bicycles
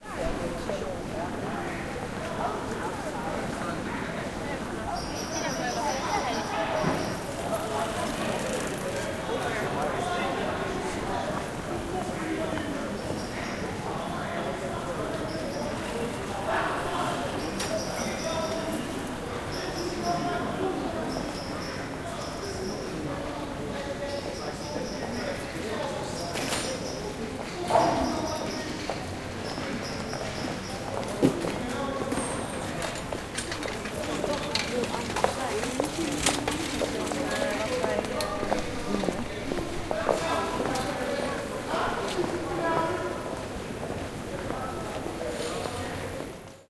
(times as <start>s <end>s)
5.2s 14.0s, 28.6s 42.4s